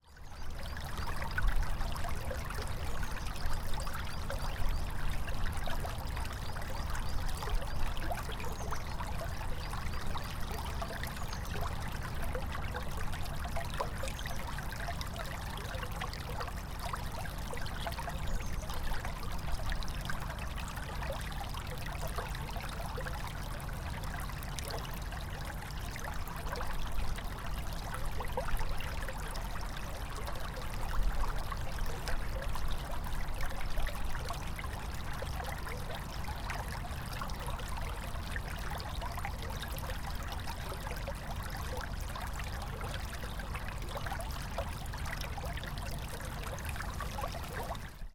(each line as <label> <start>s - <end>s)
brook 0.0s - 48.1s